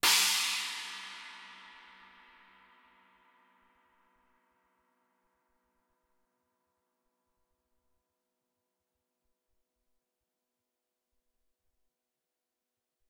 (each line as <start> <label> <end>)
0.0 cymbal 4.7